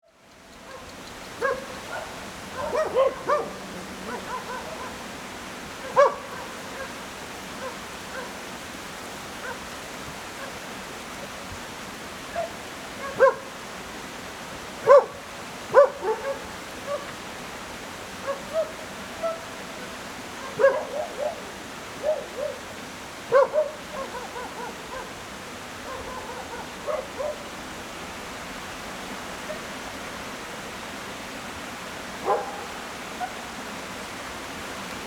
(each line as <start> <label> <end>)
0.0 water streams 35.0
0.6 Dogs barking 5.1
5.8 Dogs barking 8.4
9.4 Dogs barking 9.7
12.3 Dogs barking 13.5
14.8 Dogs barking 17.2
18.2 Dogs barking 19.5
20.3 Dogs barking 22.7
23.3 Dogs barking 27.5
32.2 Dogs barking 33.4